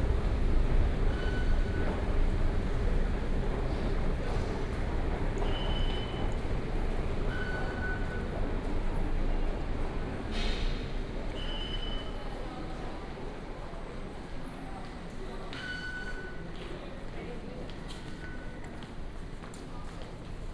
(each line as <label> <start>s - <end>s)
walking into the MRT station 0.0s - 20.5s